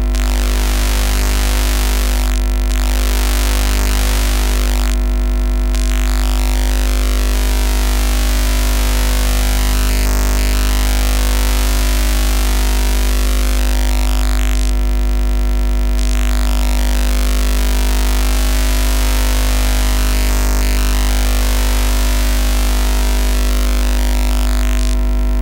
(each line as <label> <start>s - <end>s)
50 Hz hum with interference from an LED christmas light set 0.0s - 25.4s